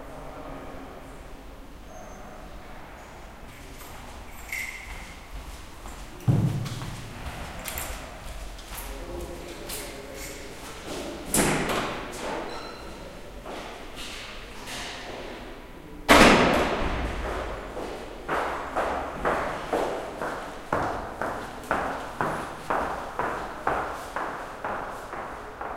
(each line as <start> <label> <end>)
3.6 echoizing sound of steps 11.0
5.9 doors 13.0
6.1 people 16.3
16.8 echoizing sound of steps 25.7